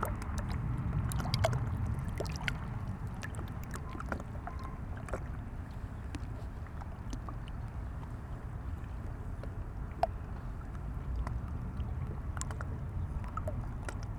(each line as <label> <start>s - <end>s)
river 0.0s - 14.1s